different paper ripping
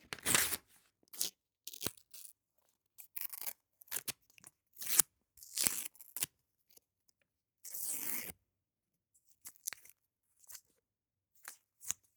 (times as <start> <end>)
0.0 0.8